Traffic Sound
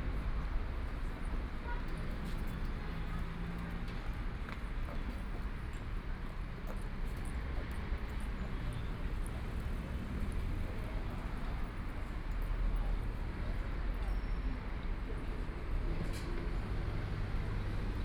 6.7s 18.0s

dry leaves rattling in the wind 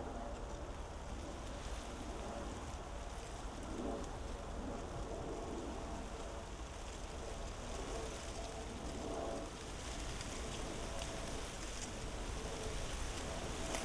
6.4s 13.8s

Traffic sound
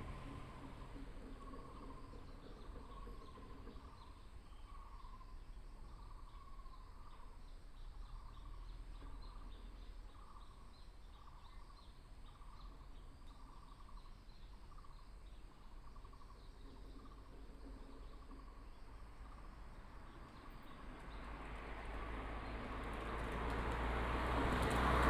0.0s 3.7s, 18.9s 25.0s

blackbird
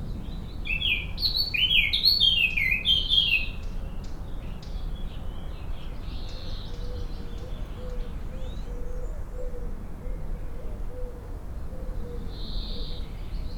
0.2s 4.8s

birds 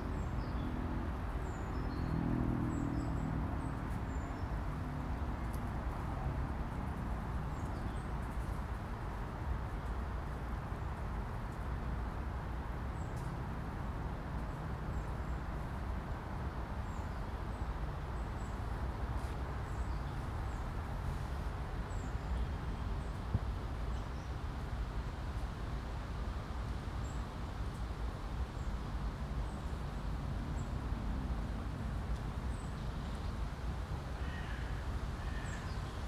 34.2s 36.0s

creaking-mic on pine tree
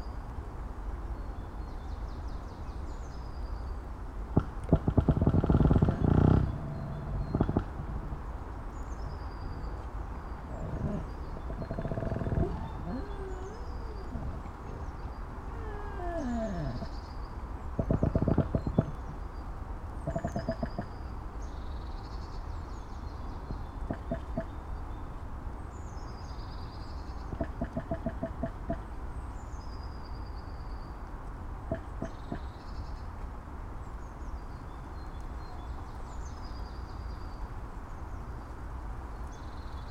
4.3s 9.1s, 9.7s 17.0s, 17.6s 19.3s, 20.0s 21.0s, 27.2s 28.8s, 31.7s 32.5s

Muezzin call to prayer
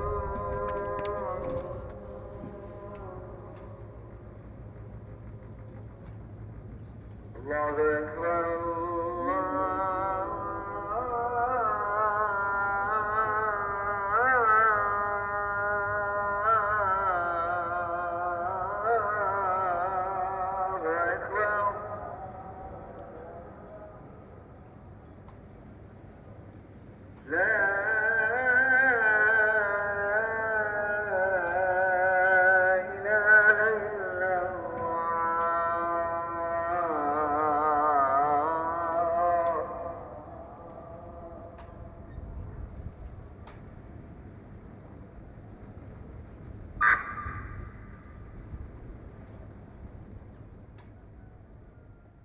0.0s 4.0s, 7.3s 24.3s, 27.2s 42.1s

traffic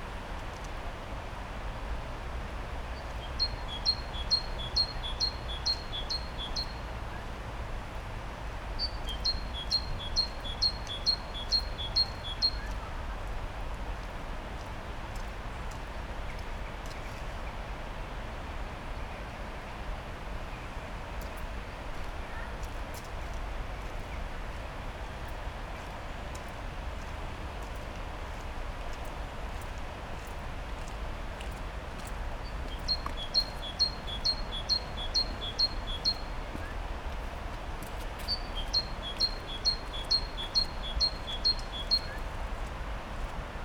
20.2s 43.6s

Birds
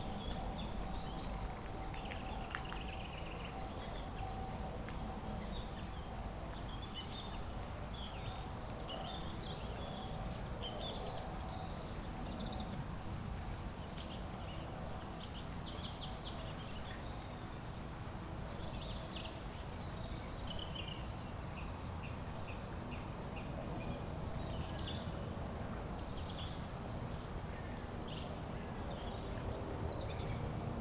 0.0s 17.9s

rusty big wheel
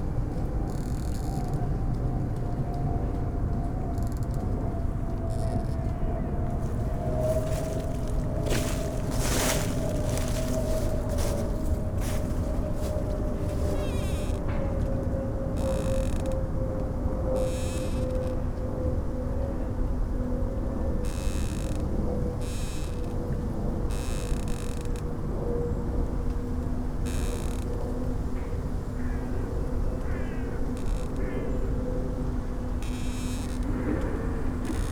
6.5s 14.8s

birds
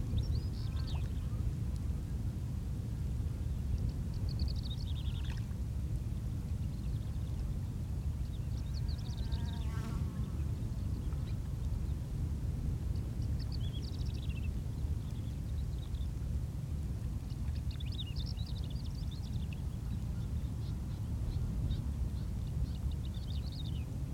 0.1s 1.4s

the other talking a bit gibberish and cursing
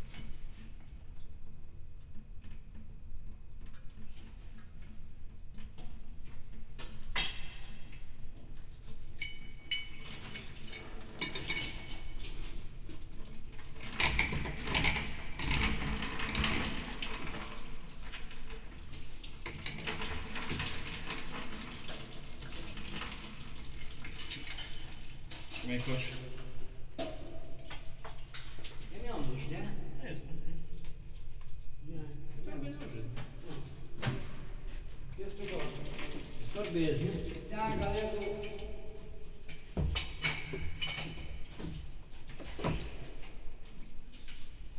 36.6s 38.8s

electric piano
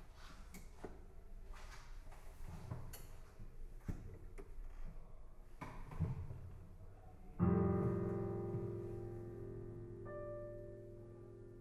7.4s 11.6s

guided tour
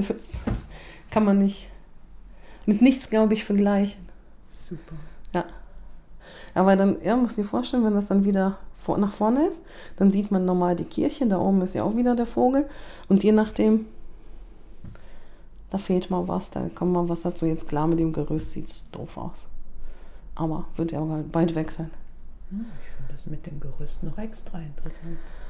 0.0s 1.4s

